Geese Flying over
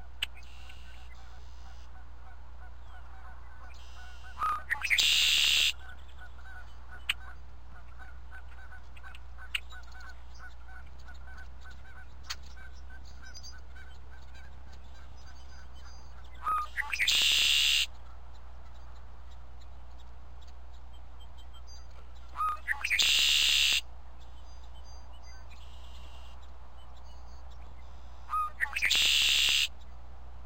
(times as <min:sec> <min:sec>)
0:00.0 0:19.0